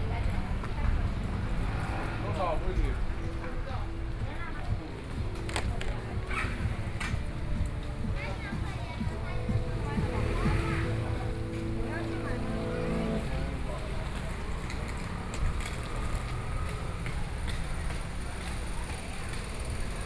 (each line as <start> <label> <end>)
0.0 Traffic Sound 20.0
0.0 Various shops voices 20.0
0.0 walking in the Street 20.0